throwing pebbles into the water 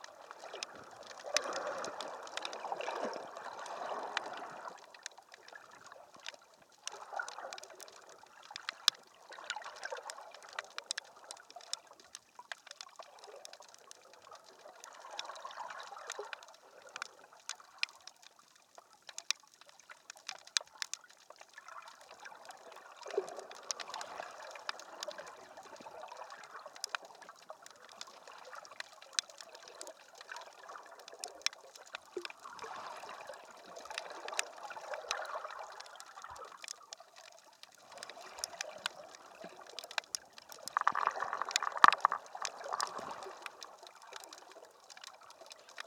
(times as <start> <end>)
39.5 43.8